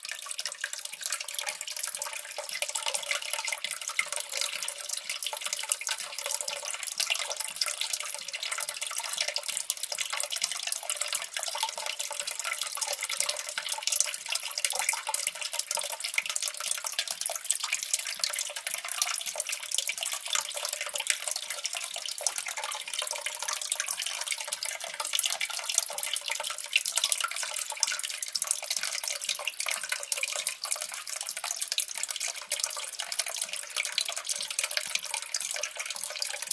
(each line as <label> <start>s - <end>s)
Water flowing down a small drainpipe 0.0s - 36.5s